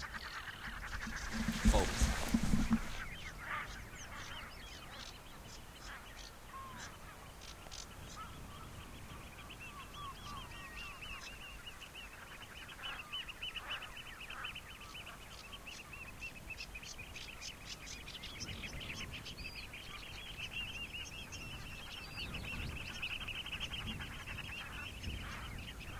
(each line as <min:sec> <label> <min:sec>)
0:00.0 birds 0:25.9